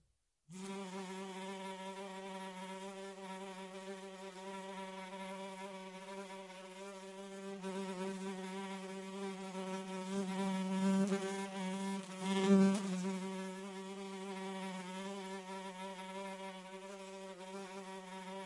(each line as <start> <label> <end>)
0.5 fly 18.4